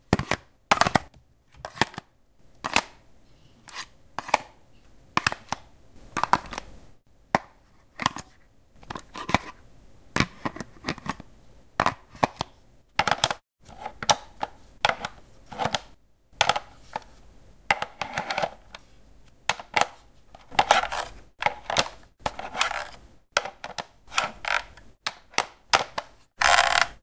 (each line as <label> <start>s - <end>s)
handling a plastic stationary telephone 19.5s - 27.0s